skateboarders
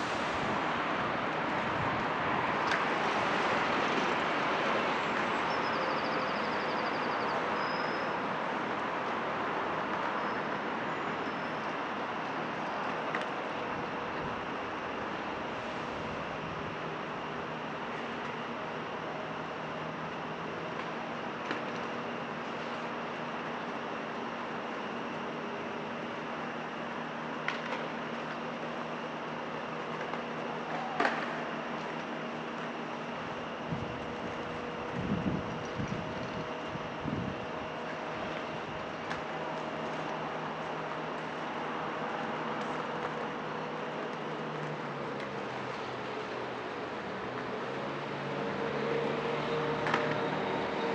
29.7 32.7, 37.8 50.9

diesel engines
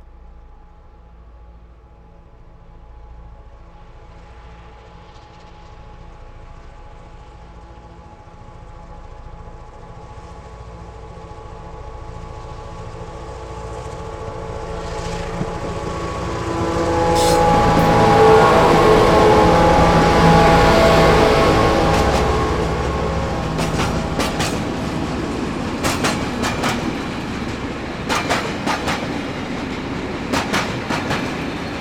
11.0 31.8

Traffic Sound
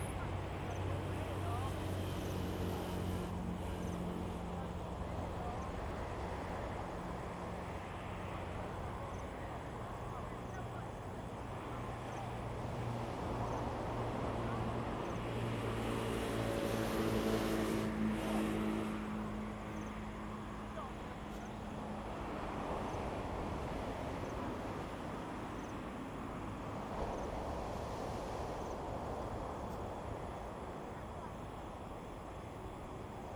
0.0 5.5, 11.8 33.0

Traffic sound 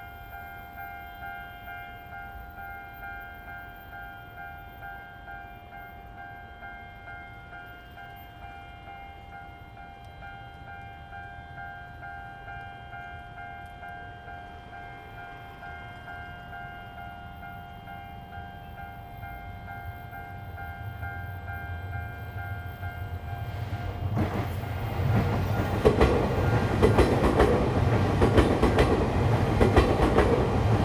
19.0 30.8

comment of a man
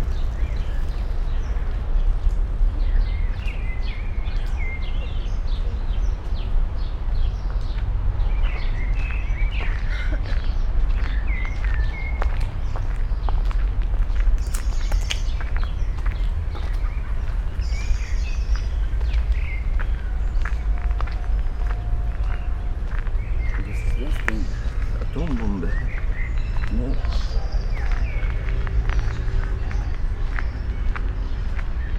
23.6 26.0, 26.6 27.4

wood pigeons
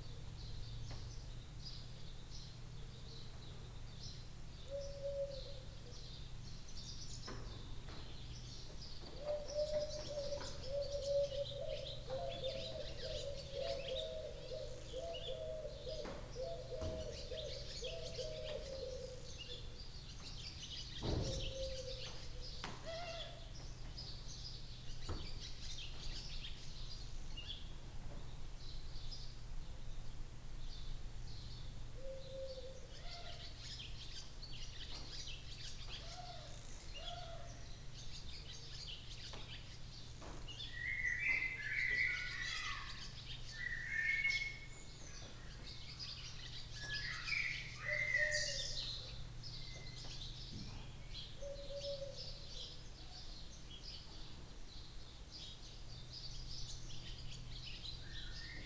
9.0 20.4, 21.0 24.0

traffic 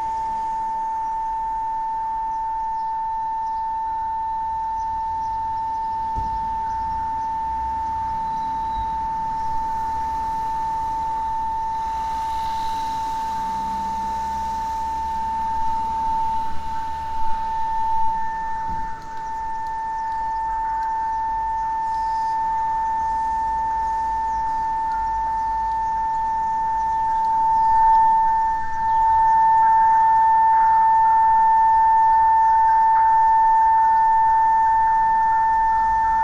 4.4 30.6

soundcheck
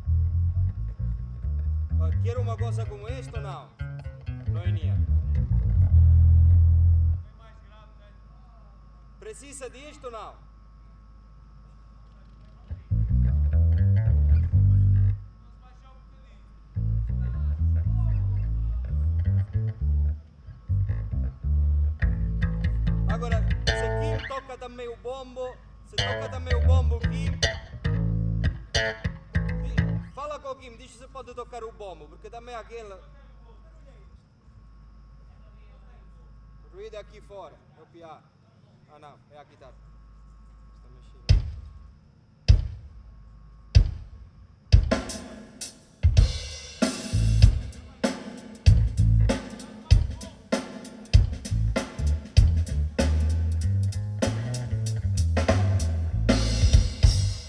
44.8 57.4

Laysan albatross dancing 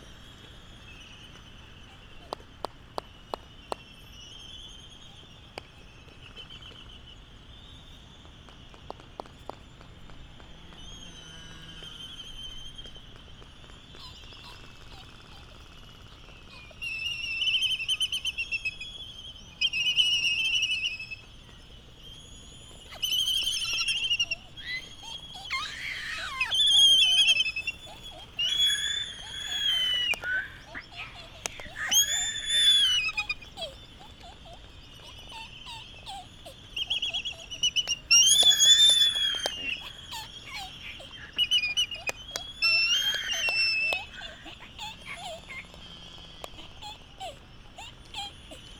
12.8 48.7

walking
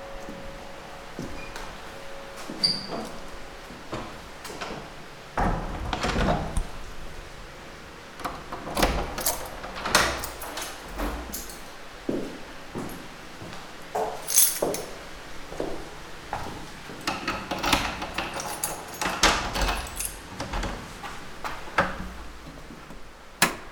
10.2 17.0

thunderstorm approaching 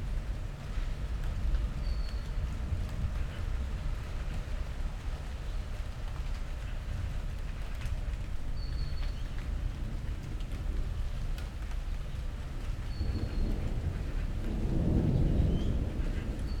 12.2 16.6

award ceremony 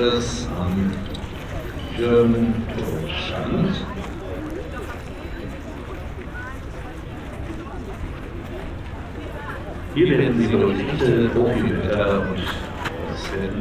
0.0 5.5, 8.7 13.6

